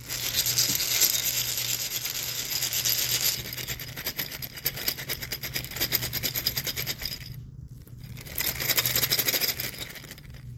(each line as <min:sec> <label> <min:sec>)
0:00.0 Chess pieces rattling 0:04.3